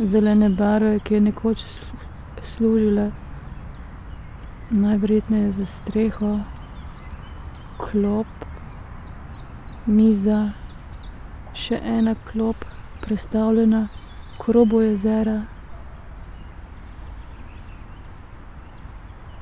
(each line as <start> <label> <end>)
0.0 spoken words 3.2
4.7 spoken words 6.6
7.8 spoken words 8.6
9.8 spoken words 10.6
11.5 spoken words 15.5